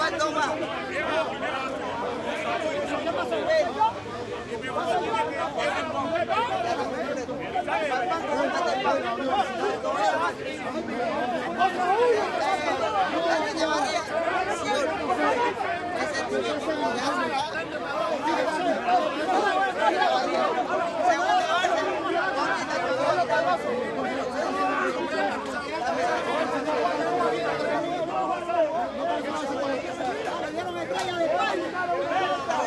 men shouting arguing 0.0 - 32.6

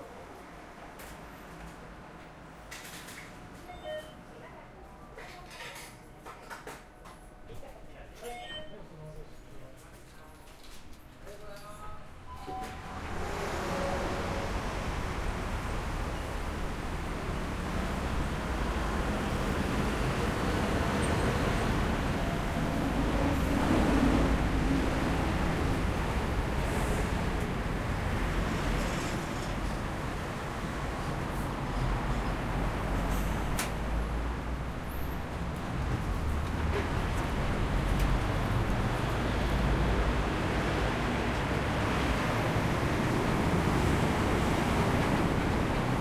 train 0.0 - 8.7
train 9.4 - 46.0
sounds of transport 12.1 - 46.0

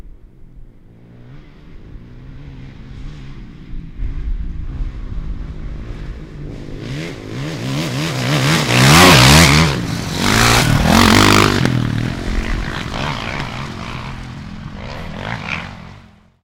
motorcycle dirt bike motocross pass by fast 0.8 - 16.4

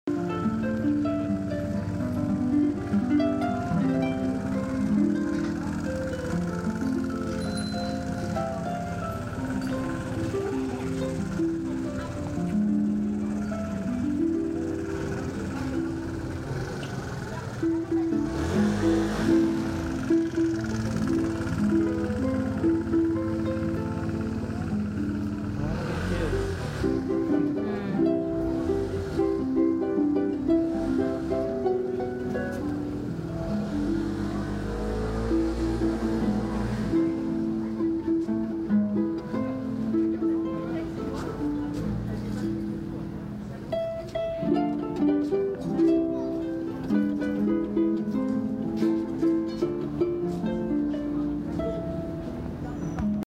street musician playing the harp 0.0 - 53.2
cars 0.1 - 53.2
people 0.1 - 53.2

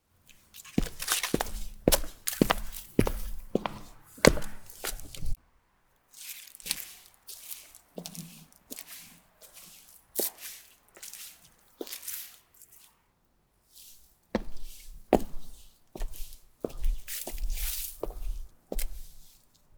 slow walking on heels 0.3 - 5.4
leaves 6.1 - 12.9
slow walking on heels 6.2 - 12.4
slow walking on heels 13.8 - 19.7

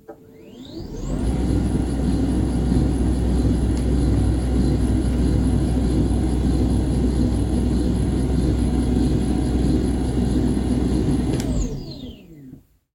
desk servo motor lowering 9.0 - 12.5

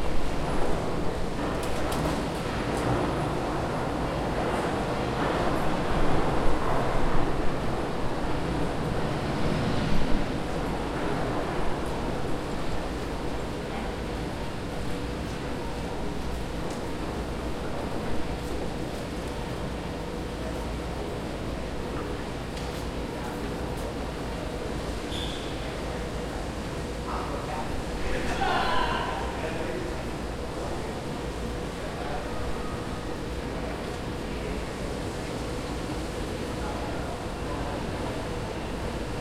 voices 27.0 - 39.2

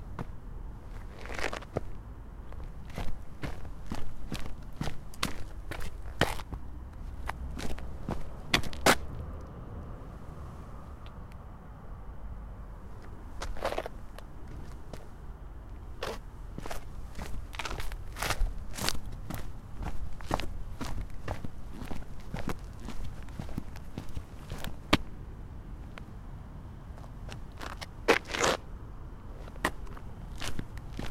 Walking on pavement with sport shoes 0.0 - 9.4
Walking on pavement with sport shoes 12.9 - 25.2
Walking on pavement with sport shoes 26.9 - 28.7
Walking on pavement with sport shoes 29.3 - 31.1

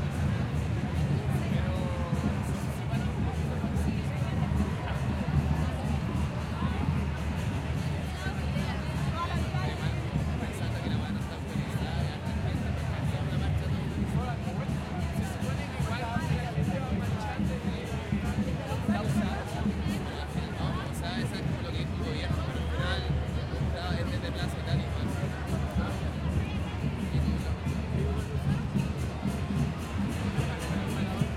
crowd 0.0 - 31.3

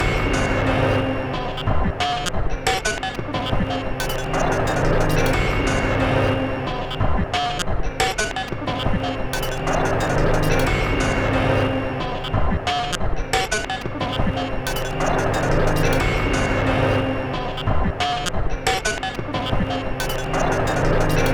Drum Loop 1.6 - 5.9
Drum Loop 6.9 - 11.3
Drum Loop 12.3 - 16.6
Drum Loop 17.6 - 21.3

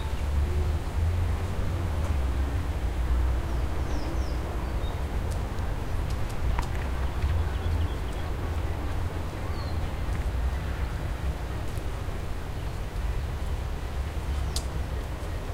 Noise of leaves 0.0 - 15.5
Rumble of city 0.0 - 15.5
Birds 6.1 - 15.5

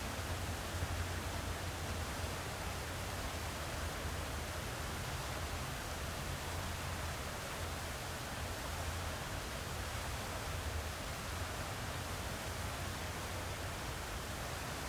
Fountain 0.0 - 14.8

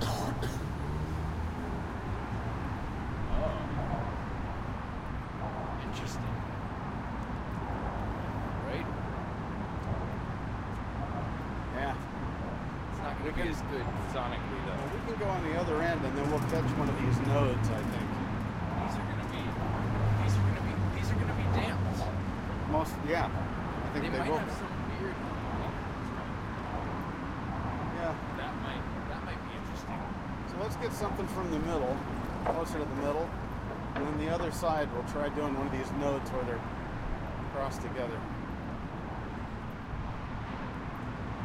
Conversation 0.0 - 41.1
traffic 0.0 - 41.4
commentary 5.6 - 6.5
commentary 12.9 - 26.0
commentary 27.8 - 36.7

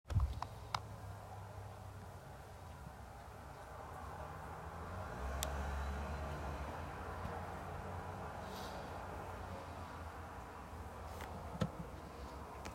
Traffic 0.1 - 12.7

